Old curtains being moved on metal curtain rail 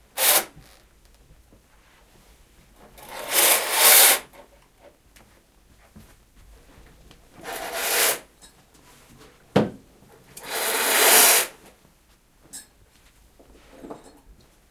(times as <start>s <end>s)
3.0s 4.2s, 10.4s 11.5s